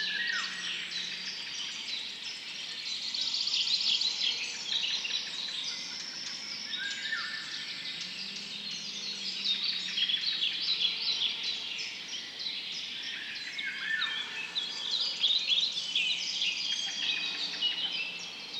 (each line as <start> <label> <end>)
0.0 birds 18.5